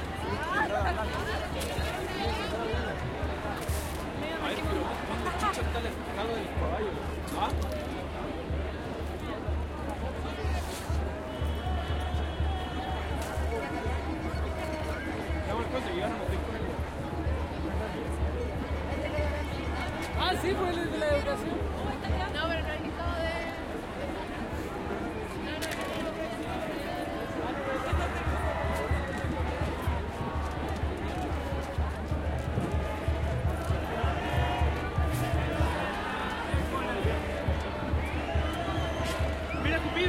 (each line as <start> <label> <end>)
0.0 crowd 40.0